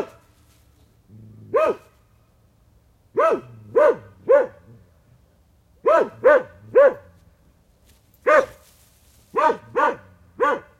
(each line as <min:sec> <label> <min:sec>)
0:01.5 Dog barking, a medium-size dog 0:02.0
0:03.1 Dog barking, a medium-size dog 0:04.8
0:05.8 Dog barking, a medium-size dog 0:07.2
0:08.2 Dog barking, a medium-size dog 0:08.7
0:09.3 Dog barking, a medium-size dog 0:10.7